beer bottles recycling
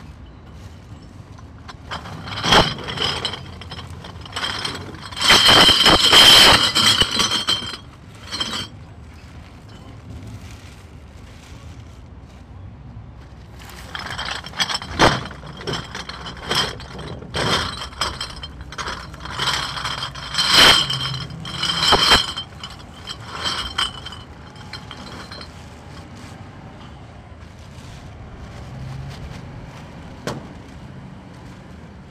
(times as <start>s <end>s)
1.3s 10.0s, 13.6s 26.2s